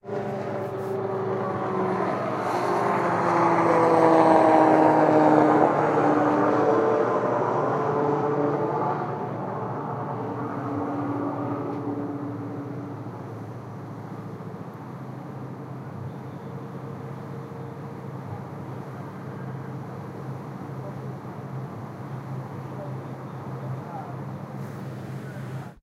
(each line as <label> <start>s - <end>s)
airplain Flighting over the boat 0.0s - 25.8s